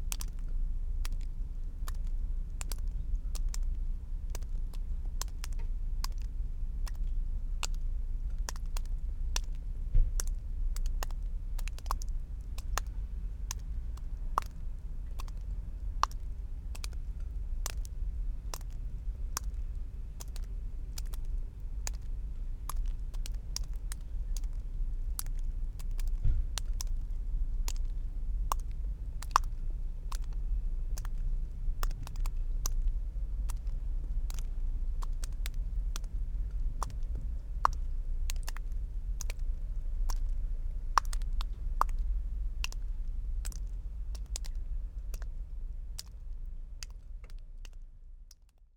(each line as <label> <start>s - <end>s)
Melting water drops on ground 0.1s - 48.7s